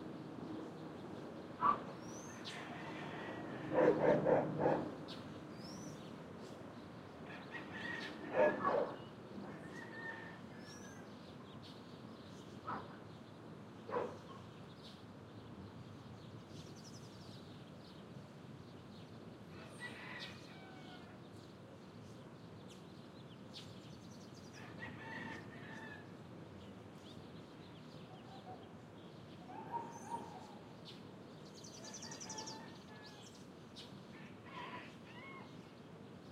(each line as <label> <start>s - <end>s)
traffic 0.0s - 16.5s
birds 0.0s - 36.3s
rooster 2.3s - 4.8s
rooster 7.2s - 8.7s
rooster 9.4s - 11.0s
rooster 19.5s - 21.2s
rooster 24.6s - 26.1s
rooster 31.8s - 33.4s
rooster 34.2s - 35.6s